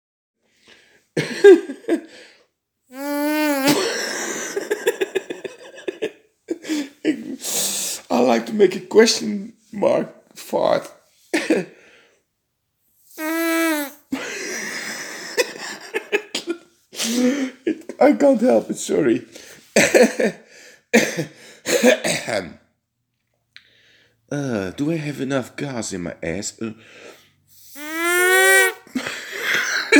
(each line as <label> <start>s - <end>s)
fart question mark sound 3.0s - 3.8s
laughing 3.0s - 4.0s
fart question mark sound 13.1s - 14.0s
laughing 13.1s - 14.0s
fart question mark sound 27.6s - 28.8s
laughing 27.6s - 28.8s